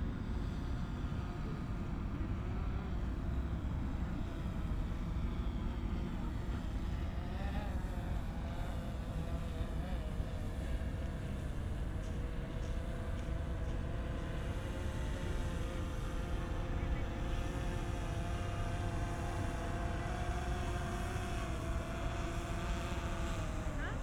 0.1s a drone flying around 24.0s

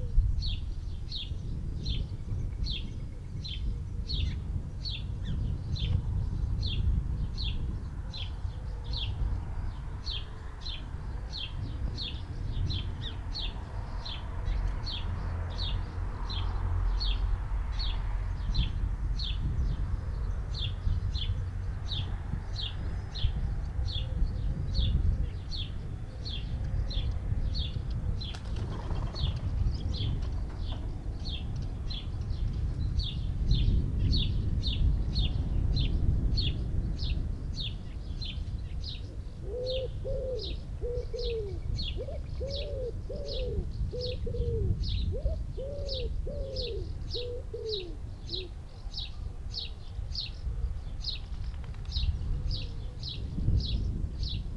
7.9s traffic noise 52.1s
22.7s collared dove 33.7s
24.0s wood pigeon 33.4s
37.8s collared dove 54.5s
39.0s wood pigeon 49.8s

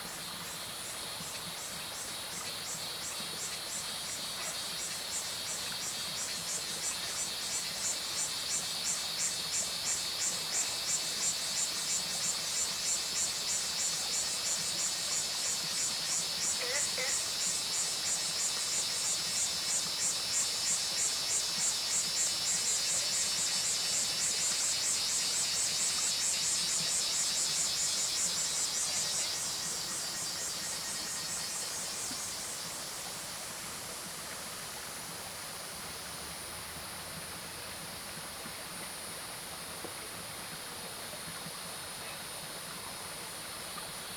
0.0s Cicadas called 35.3s
0.0s Stream sound 44.1s
2.0s Frogs called 33.0s

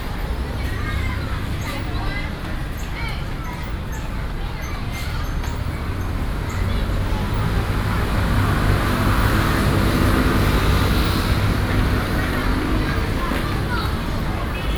0.0s students leave school 14.7s

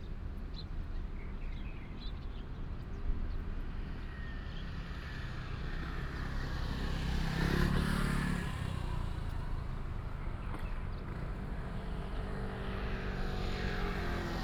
4.8s traffic sound 14.4s

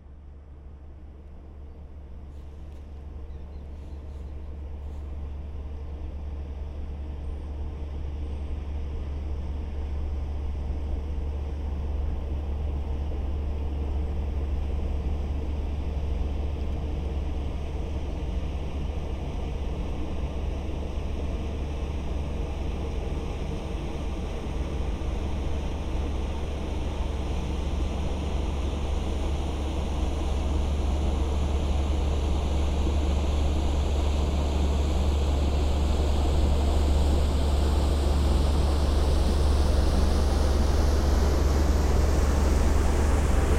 0.0s boat is passing by on the Seine river 43.5s

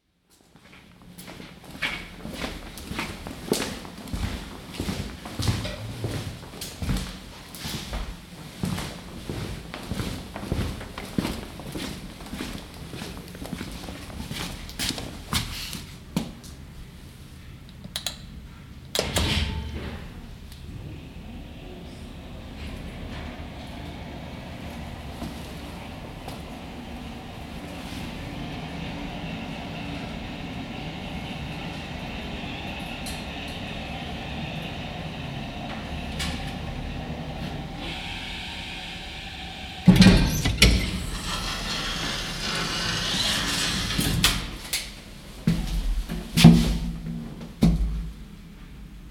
0.3s someone walking up to and entering an elevator 16.7s
18.9s elevator 45.1s
43.1s someone walking up to and entering an elevator 48.8s

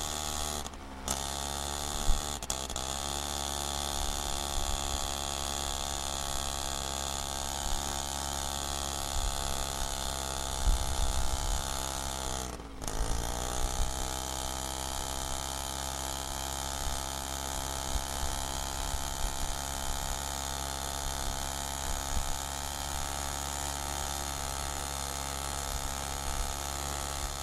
0.0s Scooter ride up the hill 27.4s

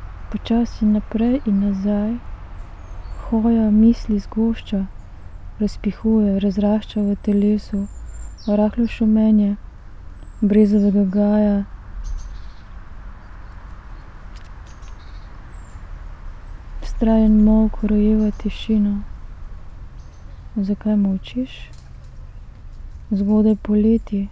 0.0s reading poem 24.3s

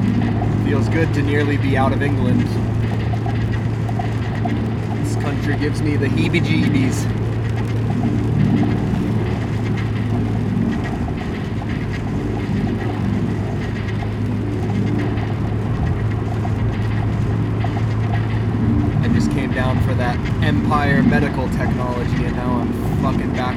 0.0s Hail storm 23.5s
0.0s car stereo blathering 23.5s

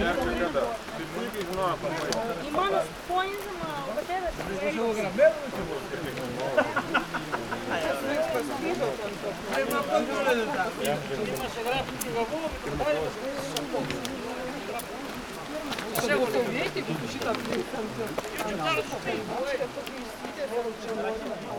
0.0s hikers resting 21.5s
0.0s mountain stream 21.5s

